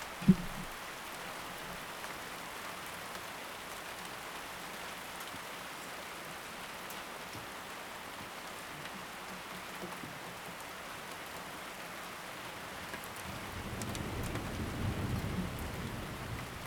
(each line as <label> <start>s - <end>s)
storm under umbrella 0.0s - 1.7s
storm under umbrella 13.0s - 16.6s